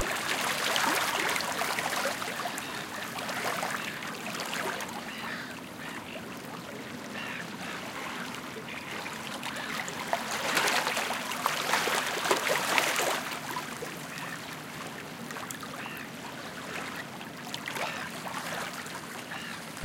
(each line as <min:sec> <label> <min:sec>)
0:00.0 Lapping Waves 0:19.8
0:07.1 Sea Gulls 0:12.0
0:19.2 Sea Gulls 0:19.8